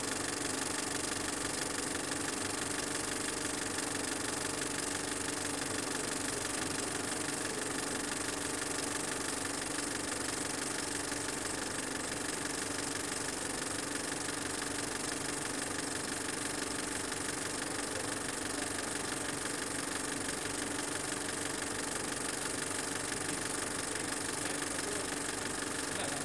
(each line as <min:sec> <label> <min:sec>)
0:00.0 film projector 0:26.2